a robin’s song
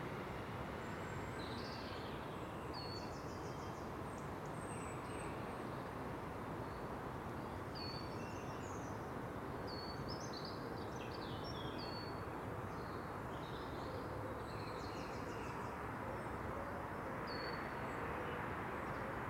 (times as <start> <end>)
9.7 13.8